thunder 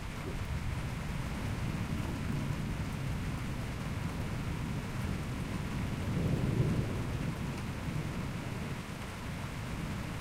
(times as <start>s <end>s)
4.0s 8.8s